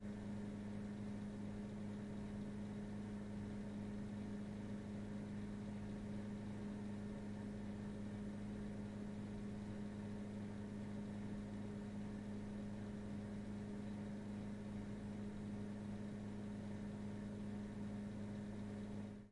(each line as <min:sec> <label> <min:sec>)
0:00.0 Coffee machine humming and buzzing 0:19.3